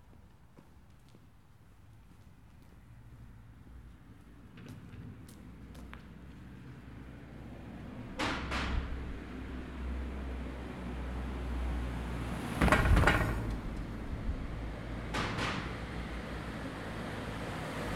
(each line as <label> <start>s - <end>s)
Passing cars 3.4s - 17.9s
Cars passing over speed bumps 6.1s - 17.9s
Passing motorbike 15.7s - 17.9s